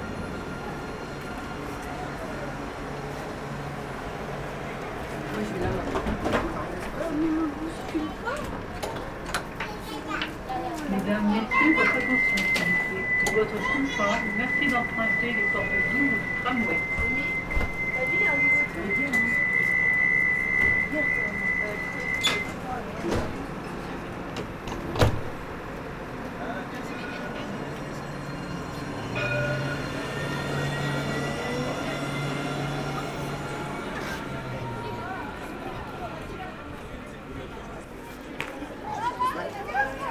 0.0s tramways passing by 40.1s
5.8s noisy young people playing nearby 14.5s
31.6s noisy young people playing nearby 40.1s

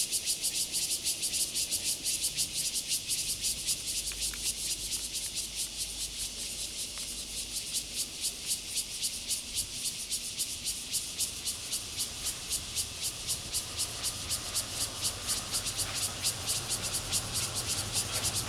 0.0s Cicadas sound 18.4s
11.0s Traffic Sound 18.4s

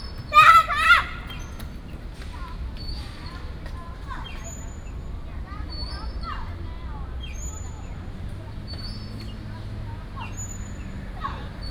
0.0s Birds sound 2.1s
0.0s traffic sound 11.7s

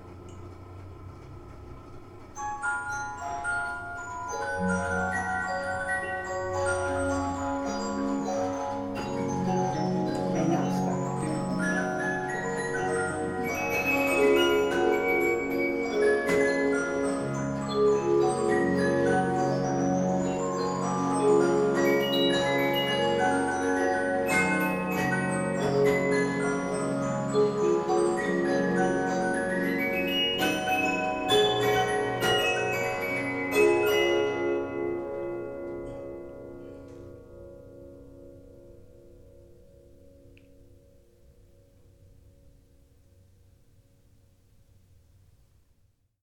0.0s Occasional hand-cranking 37.1s
2.4s antique Olympia music box plays the ragtime tune 36.5s

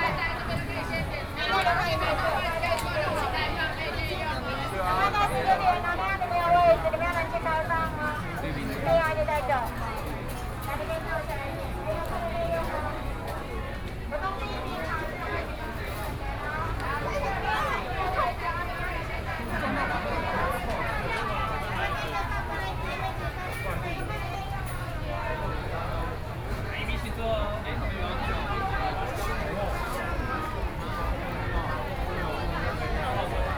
0.0s Various shops voices 33.5s
0.0s walking in the Street 33.5s

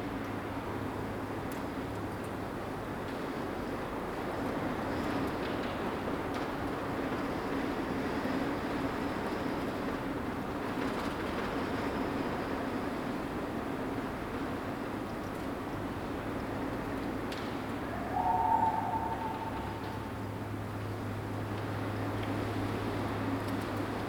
0.0s wind (outside) 24.0s

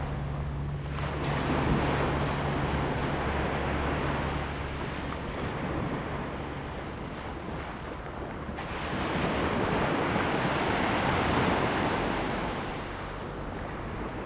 0.0s waves 14.2s

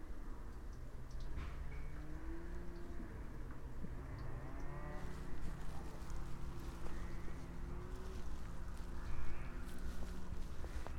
0.5s water drippings 2.0s

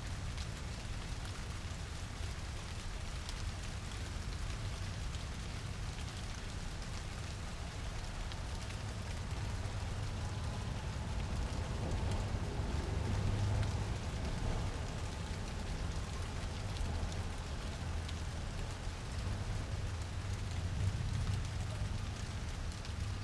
0.0s Rain in a milanese garden 23.2s

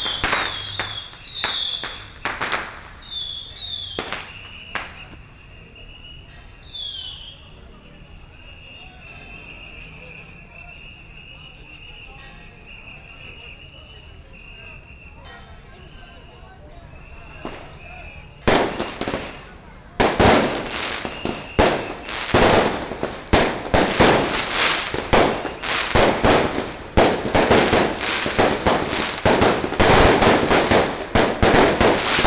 0.0s Firecrackers and fireworks 32.2s
14.8s Traffic sound 32.2s

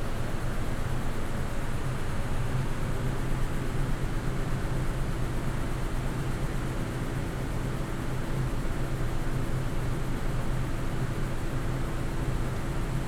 0.0s noise of an exhaust or ventilation 13.0s

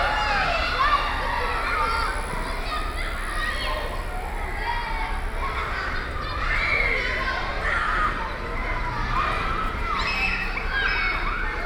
0.0s Children playing 11.6s

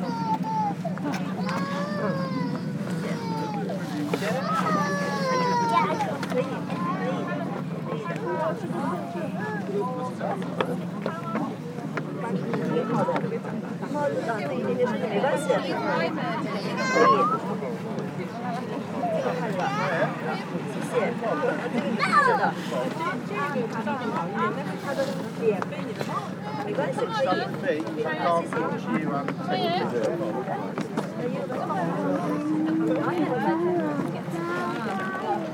0.0s tourists 35.5s

